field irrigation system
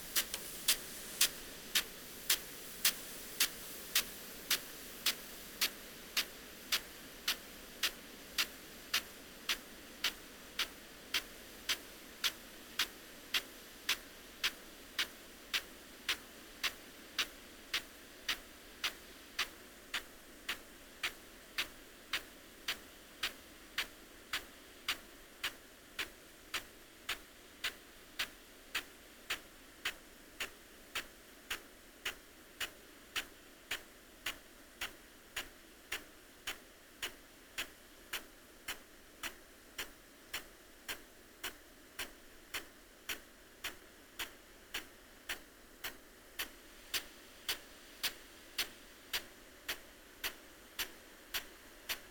0.0 14.6

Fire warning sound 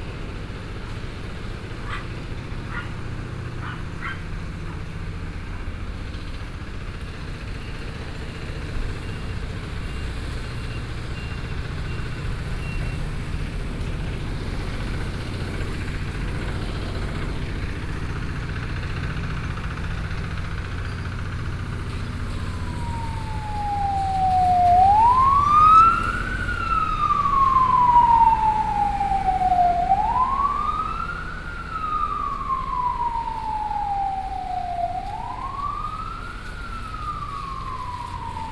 20.4 38.5

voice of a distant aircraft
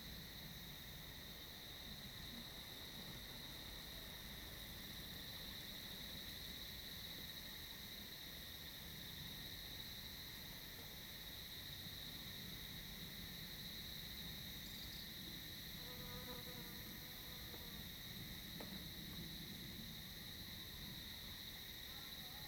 21.8 22.4

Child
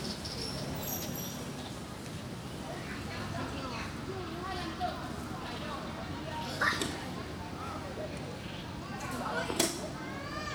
9.0 10.5

